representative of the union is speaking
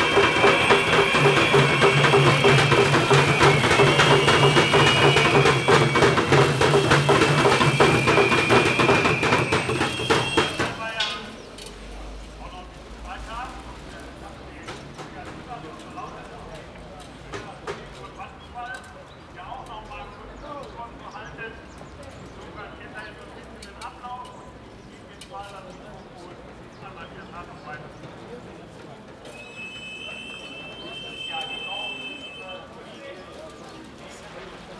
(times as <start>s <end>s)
12.0s 34.7s